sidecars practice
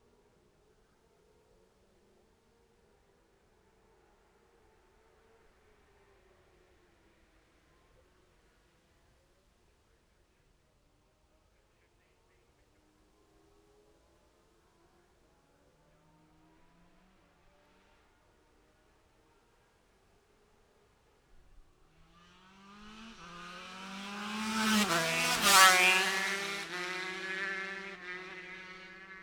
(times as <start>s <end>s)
21.9s 29.2s